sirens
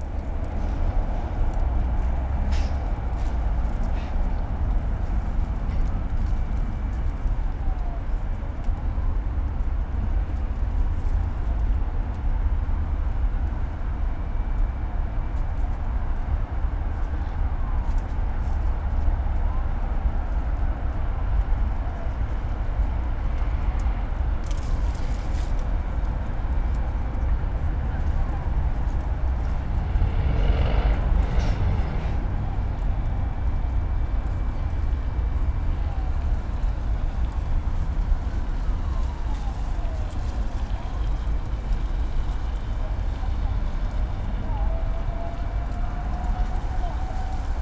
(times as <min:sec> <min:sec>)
0:26.6 0:47.6